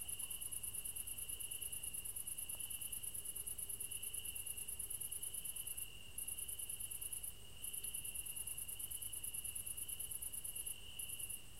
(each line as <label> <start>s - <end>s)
cricket 0.0s - 11.5s